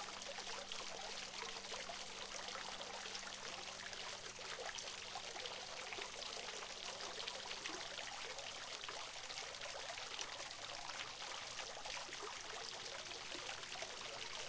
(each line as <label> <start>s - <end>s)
small water fountain 0.0s - 14.4s